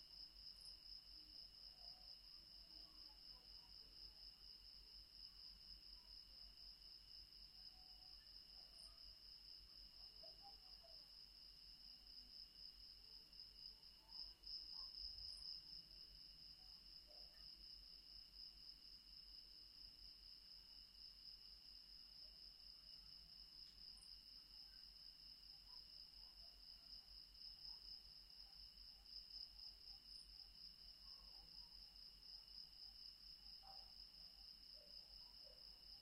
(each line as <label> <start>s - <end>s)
Insects 0.0s - 36.0s